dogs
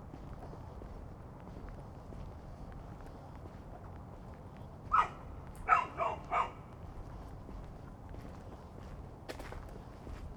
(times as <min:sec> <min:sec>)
0:04.9 0:06.8